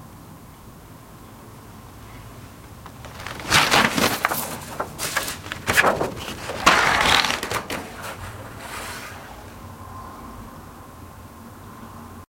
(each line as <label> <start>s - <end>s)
Turning pages of a large book 1.9s - 9.6s